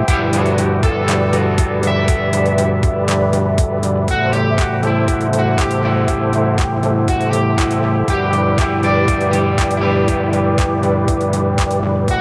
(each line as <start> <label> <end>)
0.0 bass 12.2
0.0 drums 12.2
0.0 echo-distortion electric guitar 12.2